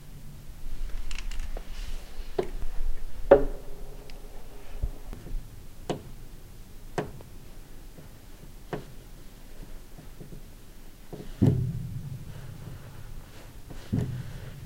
Upright Piano Creaks 0.8 - 6.3

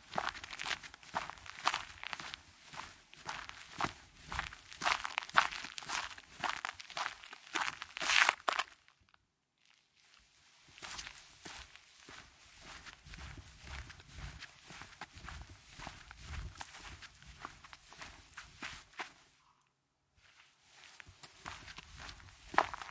footsteps 0.0 - 8.7
Walk on gravel 0.0 - 8.9
Walk on gravel 10.1 - 19.2
footsteps 10.7 - 19.3
footsteps 20.2 - 22.9
grass 20.3 - 22.9
Walk on gravel 20.8 - 22.9

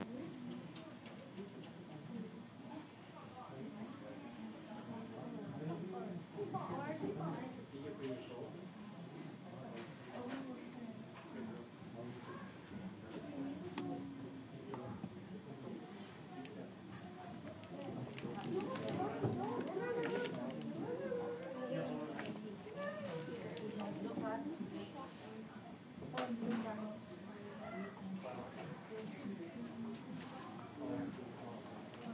children 16.9 - 24.5
crinkling 18.1 - 20.8
children 27.4 - 28.1

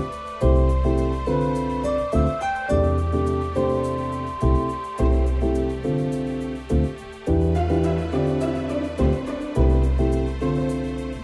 guitar 0.0 - 11.2
shakers 0.0 - 11.2

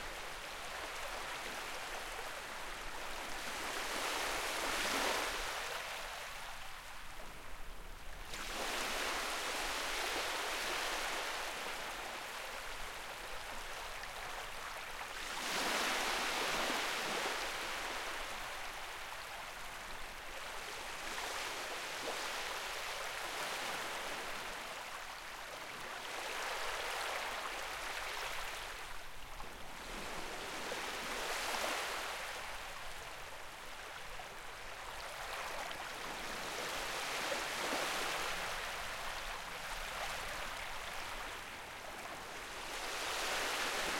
sparkly fresh water lapping on the seaside 0.0 - 7.4
sparkly fresh water lapping on the seaside 8.1 - 43.9

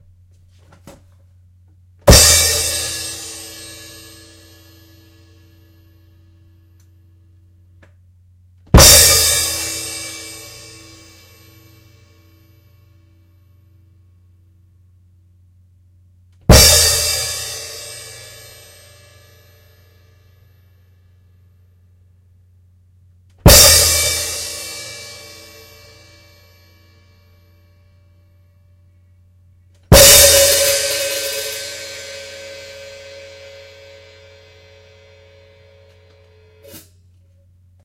Crashes on my Sabian B8 crash cymbal 29.9 - 37.0

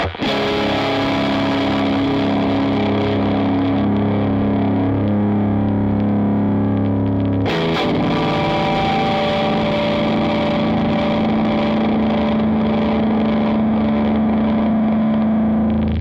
guit. noise 0.0 - 16.0

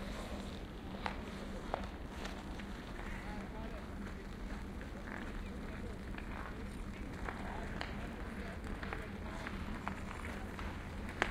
ice skating 0.0 - 11.3
playing ice hockey 6.1 - 11.3

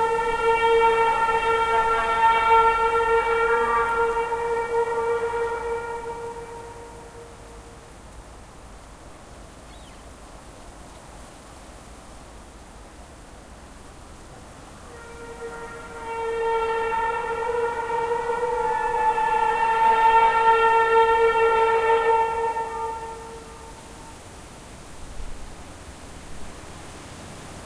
distant traffic 0.0 - 27.6
wind 0.0 - 27.6
birdsong 9.7 - 10.1

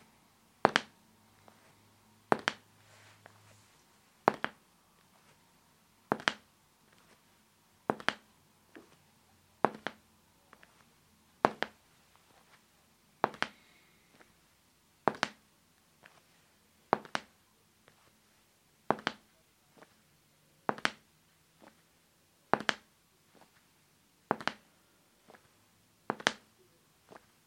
Hard-soled shoes on a tile floor with a slow pace 0.6 - 5.4
Hard-soled shoes on a tile floor with a slow pace 6.1 - 12.6
Hard-soled shoes on a tile floor with a slow pace 13.2 - 14.4
Hard-soled shoes on a tile floor with a slow pace 15.0 - 15.4
Hard-soled shoes on a tile floor with a slow pace 16.0 - 18.2
Hard-soled shoes on a tile floor with a slow pace 18.9 - 20.0
Hard-soled shoes on a tile floor with a slow pace 20.6 - 21.9
Hard-soled shoes on a tile floor with a slow pace 22.5 - 23.7
Hard-soled shoes on a tile floor with a slow pace 24.3 - 27.4

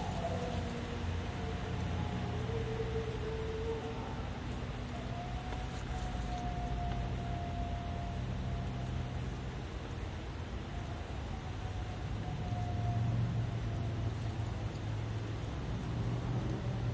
howling dog 0.0 - 14.8
distant cars 0.0 - 16.9
sirens 0.0 - 16.9
wind through the trees 0.0 - 16.9

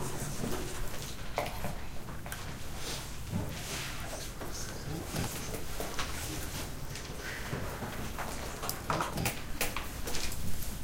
Students in class, whispering and writing 0.0 - 10.8

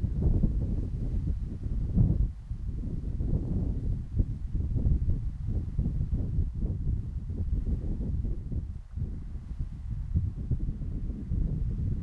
Wind on microphone 0.0 - 12.0

